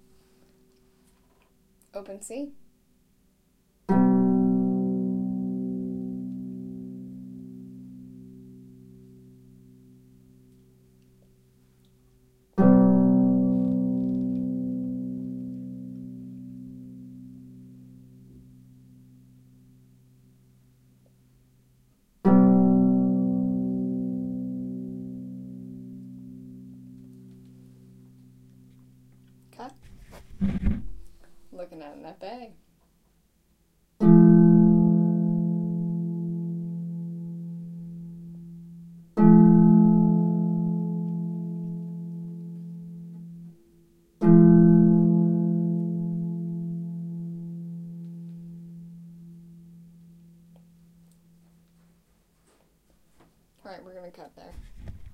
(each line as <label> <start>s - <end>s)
harp chords 3.9s - 10.6s
harp chords 12.5s - 19.9s
harp chords 22.2s - 29.5s
harp chords 34.0s - 51.6s